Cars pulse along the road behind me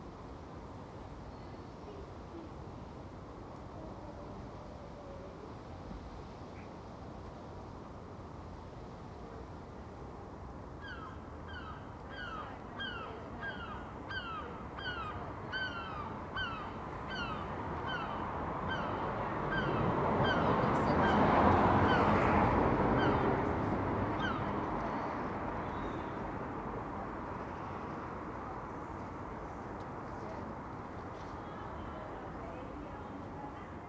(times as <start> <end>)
16.2 33.8